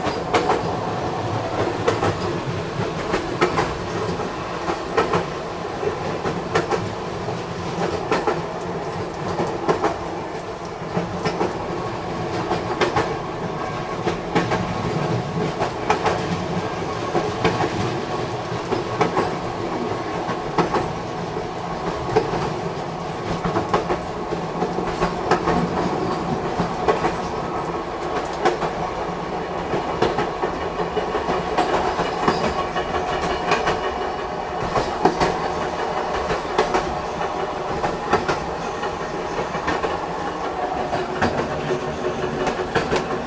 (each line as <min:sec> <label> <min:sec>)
0:00.0 Train 0:43.2